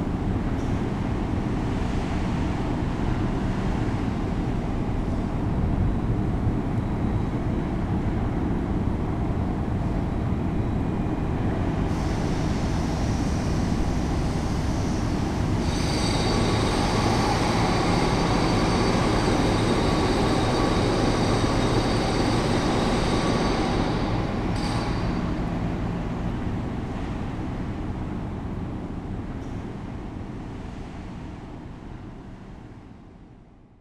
worker is destroying a wall with an horrible drill 0:15.6 - 0:25.2

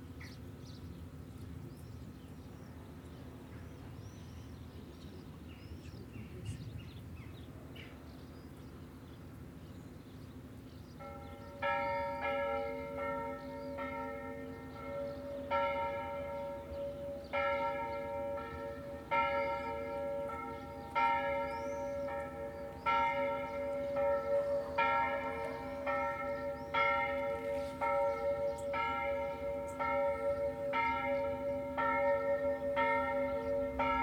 birds 0:00.1 - 0:34.0
bells ringing 0:11.0 - 0:34.0

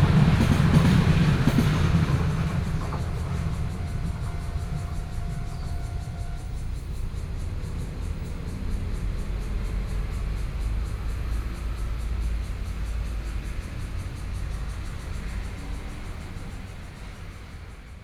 Cicadas sound 0:00.0 - 0:18.0
Traffic Sound 0:00.0 - 0:18.0
Train traveling through 0:00.0 - 0:18.0

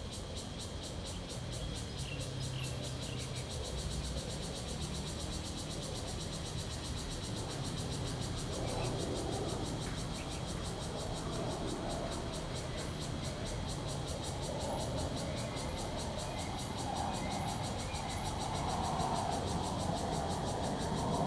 Cicadas sound 0:00.0 - 0:21.2

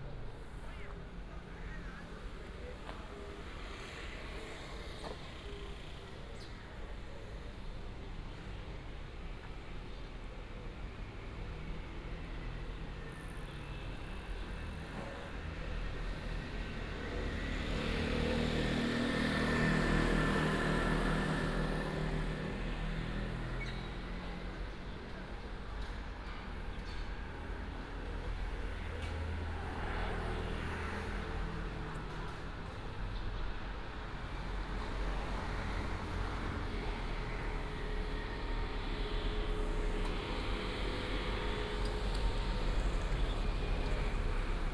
traffic sound 0:11.4 - 0:44.7

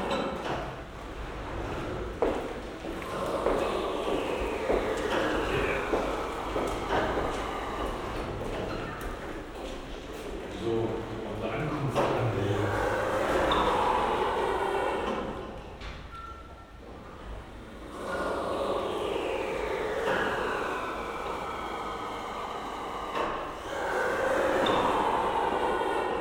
automatic doorway at the main entrance 0:00.0 - 0:26.2
visitors 0:00.0 - 0:26.2

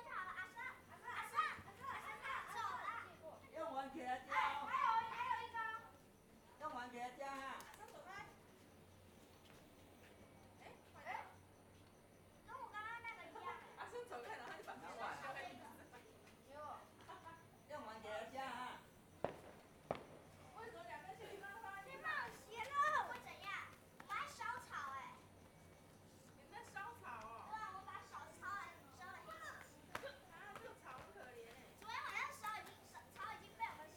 Kids playing firecrackers 0:19.1 - 0:27.0
firecrackers 0:19.1 - 0:24.4
Kids playing firecrackers 0:27.6 - 0:33.9

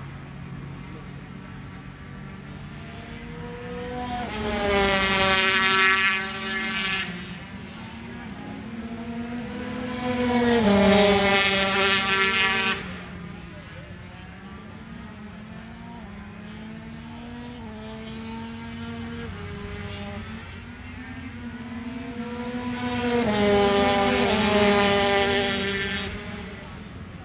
Motorcycle Grand Prix 0:00.0 - 0:27.2

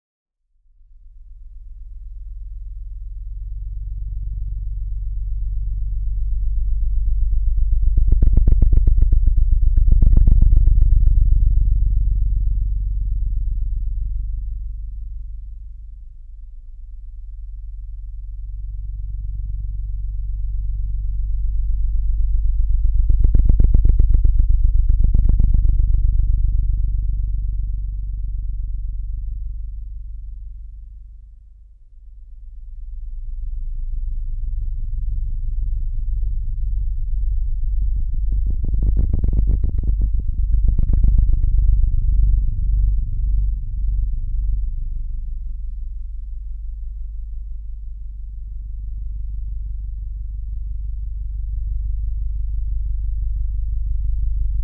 EM waves into audible tones 0:23.0 - 0:27.4
EM waves into audible tones 0:37.3 - 0:45.4

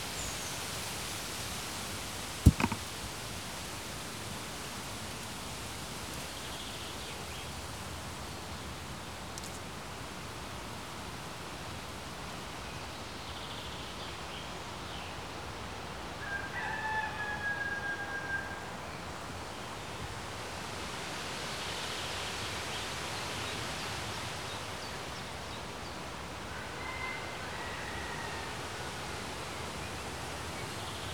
shriveled leaf fell down on the recorder 0:02.4 - 0:02.9
a rooster 0:16.2 - 0:18.9
a rooster 0:26.5 - 0:29.1

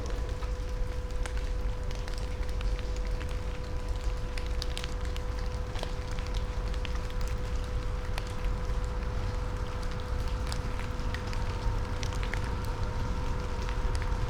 rain on leaves 0:00.0 - 0:14.2

